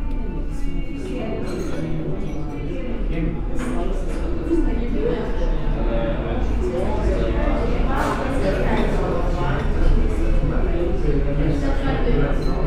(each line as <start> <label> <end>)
0.0 Cafe Voices 12.6